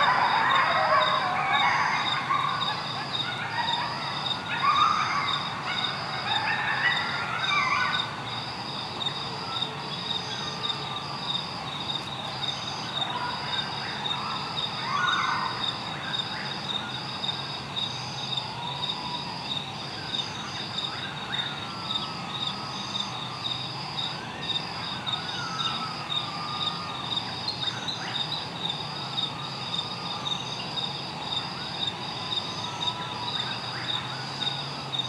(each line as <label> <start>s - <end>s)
Coyotes 0.0s - 35.0s